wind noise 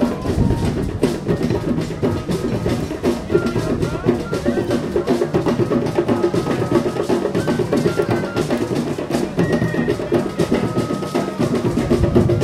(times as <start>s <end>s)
0.0s 1.7s, 11.7s 12.4s